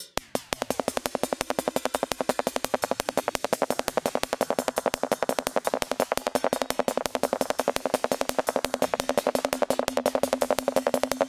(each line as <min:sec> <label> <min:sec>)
0:00.0 Electronic hi-hats 0:11.2